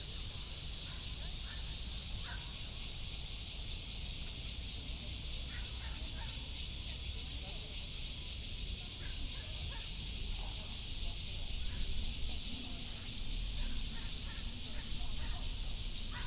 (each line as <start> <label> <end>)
10.4 Cicada sound 16.2